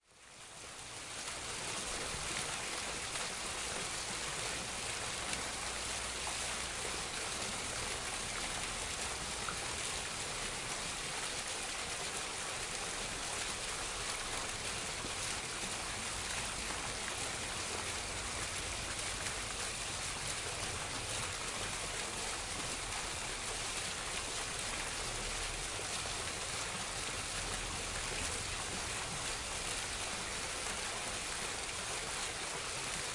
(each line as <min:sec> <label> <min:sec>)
0:00.0 fountain 0:33.1